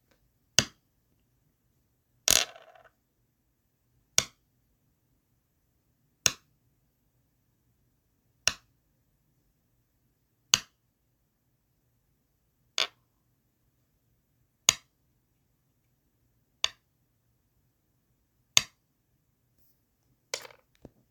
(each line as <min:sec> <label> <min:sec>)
0:20.3 placing a stone on the Go board 0:21.0